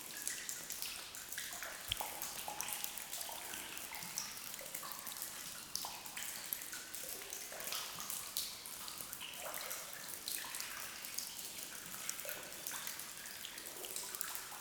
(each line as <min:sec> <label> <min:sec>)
0:00.0 Soft rain 0:14.6